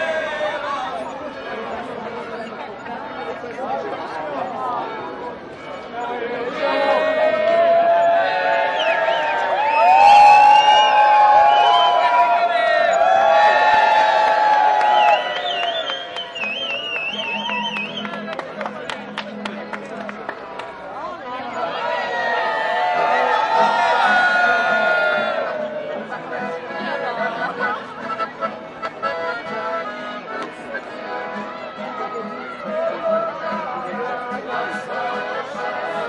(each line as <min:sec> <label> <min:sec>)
0:00.0 crowd of tourists 0:36.0
0:05.7 singing 0:13.6
0:06.3 Wedding procession (singing, clapping, playing) 0:21.0
0:14.7 clapping 0:20.8
0:31.0 singing 0:36.0